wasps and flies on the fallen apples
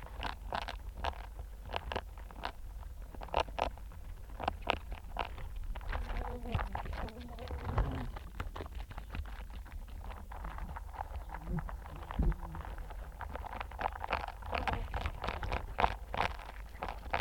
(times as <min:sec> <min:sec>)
0:10.2 0:17.2